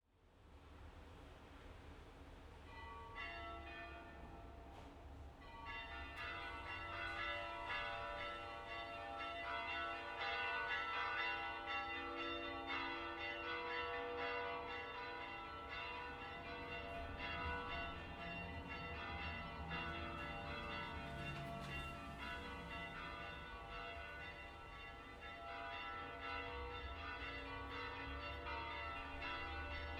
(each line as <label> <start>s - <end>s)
Church bells ringing faster 5.4s - 29.9s